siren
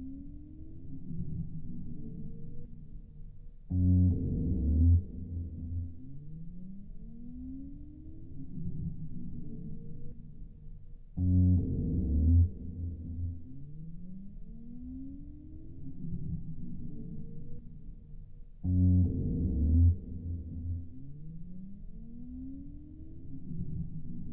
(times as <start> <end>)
3.7 10.2, 11.2 17.6, 18.7 24.3